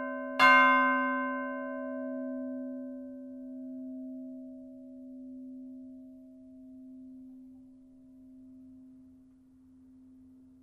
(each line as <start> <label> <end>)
0.0 bell manually ringed in the tower 5.9